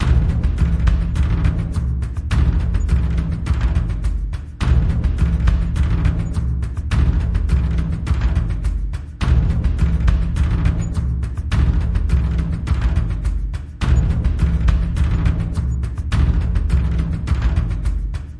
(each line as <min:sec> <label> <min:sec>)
0:00.0 Tribal beat 0:18.3